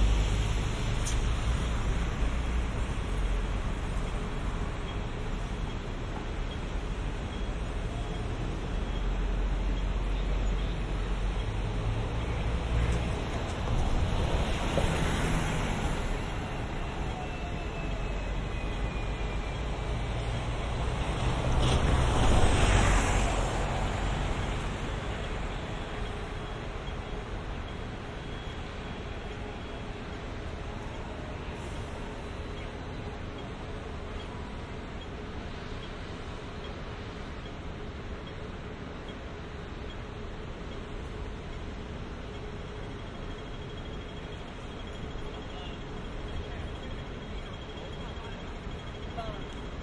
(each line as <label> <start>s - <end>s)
traffic 0.0s - 49.8s